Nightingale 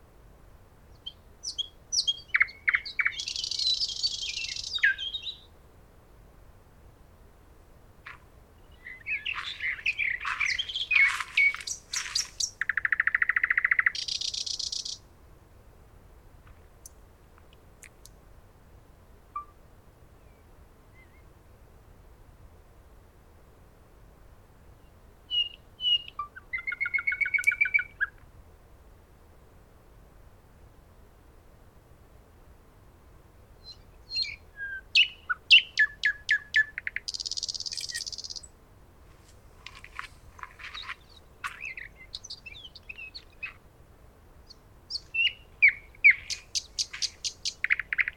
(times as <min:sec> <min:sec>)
0:00.9 0:05.6, 0:07.9 0:15.1, 0:33.5 0:48.1